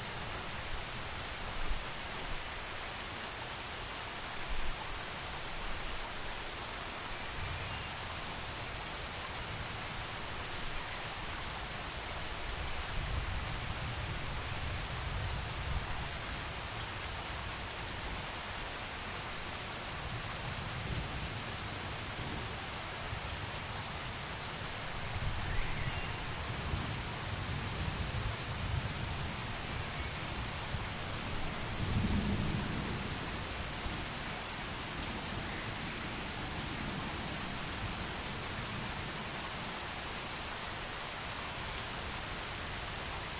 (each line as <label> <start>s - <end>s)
rain 0.0s - 43.3s